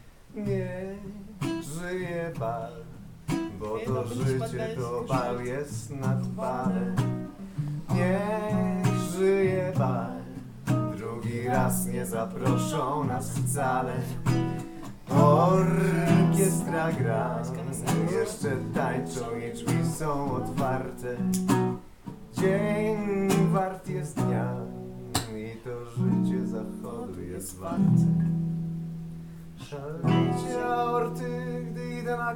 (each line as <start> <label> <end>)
0.0 Songs 32.3